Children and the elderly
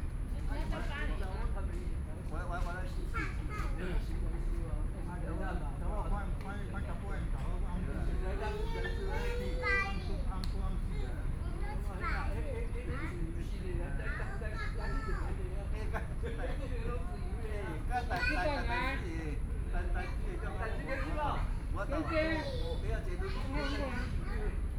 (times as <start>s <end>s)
8.0s 16.0s, 19.8s 24.7s